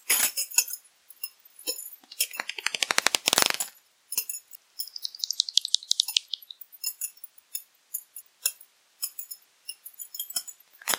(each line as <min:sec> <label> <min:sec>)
0:01.7 Bats 0:07.2